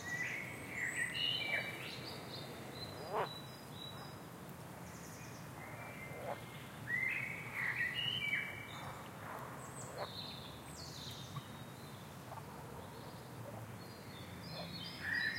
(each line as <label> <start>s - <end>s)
frogs 0.0s - 4.2s
birds 0.0s - 15.3s
frogs 5.6s - 10.2s